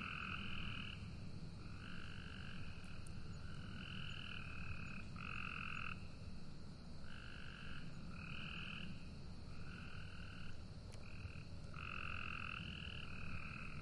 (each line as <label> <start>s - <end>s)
Cicadas 0.0s - 13.8s
Frogs 0.0s - 13.8s